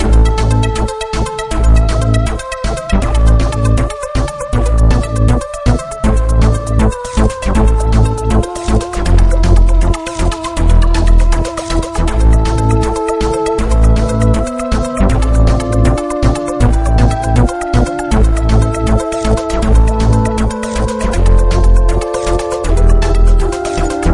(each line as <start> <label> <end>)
0.0 synth 24.1
0.0 theremin 24.1